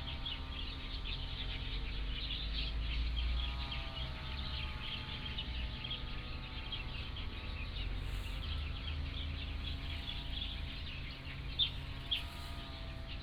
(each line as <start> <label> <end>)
0.0 Birdsong 13.2
0.0 Lawn mower 13.2